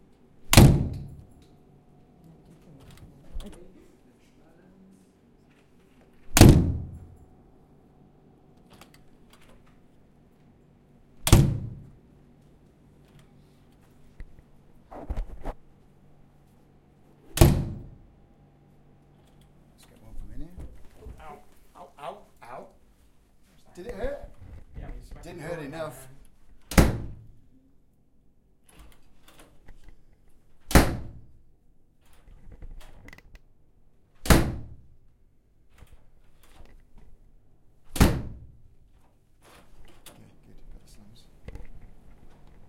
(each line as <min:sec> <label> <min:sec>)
0:00.5 Door Slams and Opens2 0:01.4
0:06.2 Door Slams and Opens2 0:07.2
0:11.2 Door Slams and Opens2 0:12.0
0:17.3 Door Slams and Opens2 0:18.1
0:26.6 Door Slams and Opens2 0:27.4
0:30.6 Door Slams and Opens2 0:31.3
0:34.2 Door Slams and Opens2 0:34.9
0:37.9 Door Slams and Opens2 0:38.6